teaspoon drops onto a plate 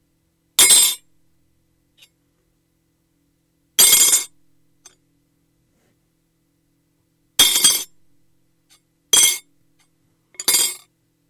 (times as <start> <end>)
9.2 9.5, 10.4 10.9